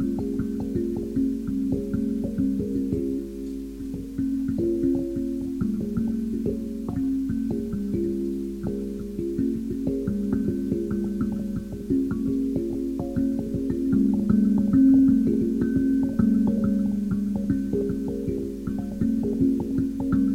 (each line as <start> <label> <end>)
0.0 modified kalimba 20.3